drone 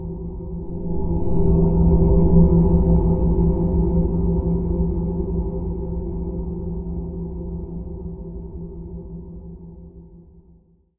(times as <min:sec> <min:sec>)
0:00.0 0:06.6